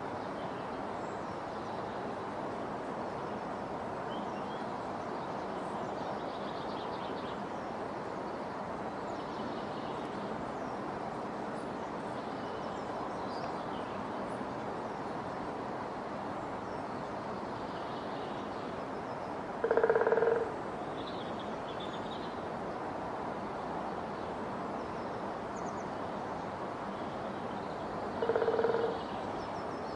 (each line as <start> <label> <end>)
19.6 woodpecker 20.5
28.2 woodpecker 29.0